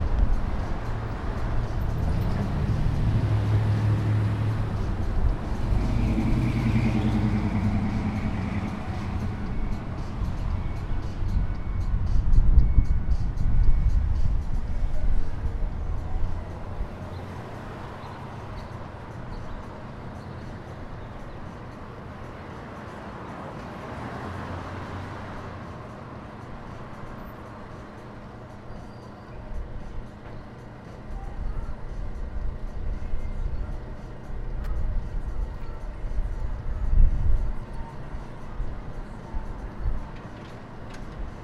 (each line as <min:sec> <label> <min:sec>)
0:00.0 cars 0:41.4